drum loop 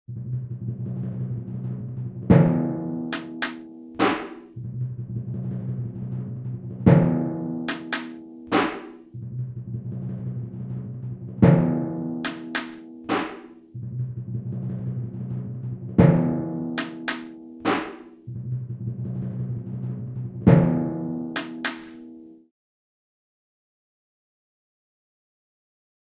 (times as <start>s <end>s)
2.3s 4.6s, 6.9s 9.1s, 11.4s 13.6s, 16.0s 18.2s, 20.5s 22.1s